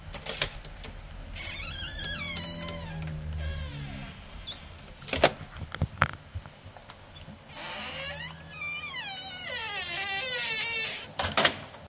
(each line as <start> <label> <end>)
0.0 closes with an additional accompanying whine 11.3
0.0 door opens with a low hum 11.6